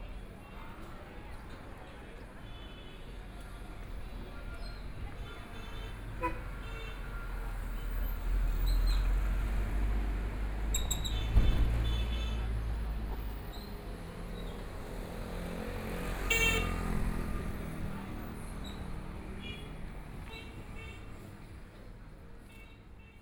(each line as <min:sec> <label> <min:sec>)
0:00.0 Traffic Sound 0:23.2